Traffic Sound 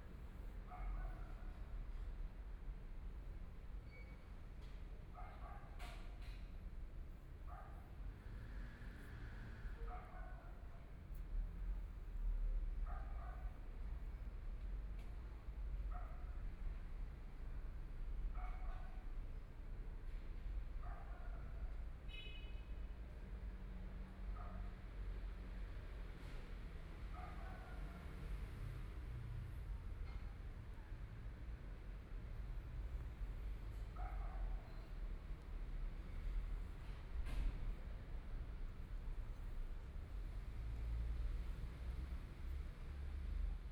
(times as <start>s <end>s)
6.7s 15.3s, 26.2s 43.7s